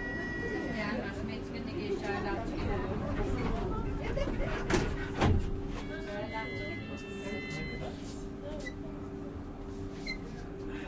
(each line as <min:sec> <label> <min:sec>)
0:06.2 warning buzzer sounding 0:08.0